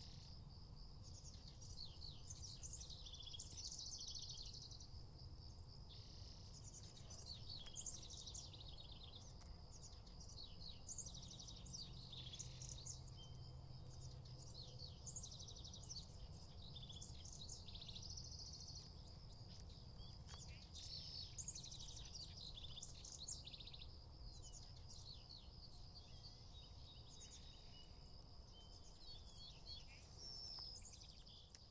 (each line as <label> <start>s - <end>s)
Birdsong 0.0s - 31.7s